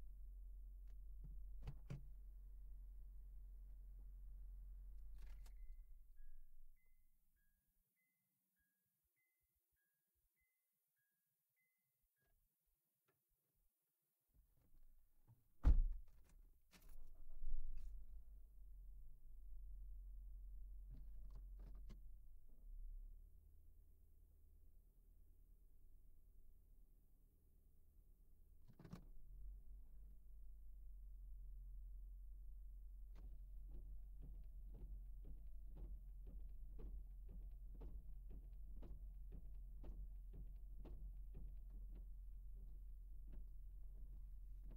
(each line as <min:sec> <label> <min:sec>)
0:15.6 opening and shutting doors and windows 0:17.2